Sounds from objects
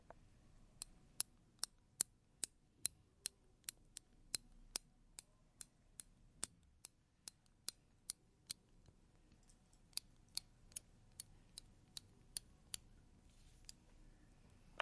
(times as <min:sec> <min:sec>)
0:12.7 0:14.8